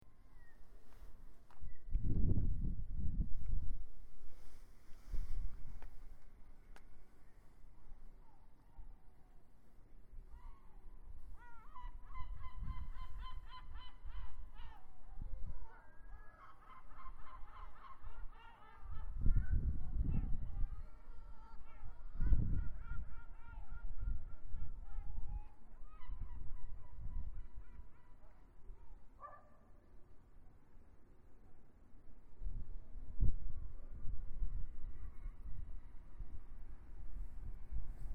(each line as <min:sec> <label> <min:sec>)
0:10.3 Seagulls crying 0:15.0
0:15.8 Seagulls crying 0:19.4